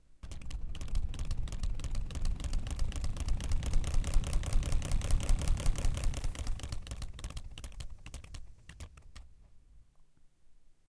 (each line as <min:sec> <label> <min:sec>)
0:00.2 pinwheel in a wind 0:09.0